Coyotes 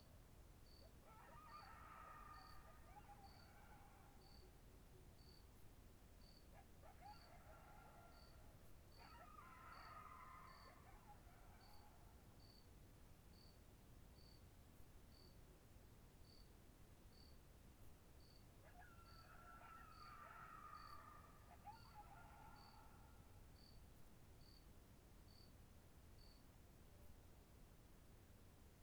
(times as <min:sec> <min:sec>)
0:00.6 0:05.6, 0:06.2 0:12.7, 0:18.2 0:24.7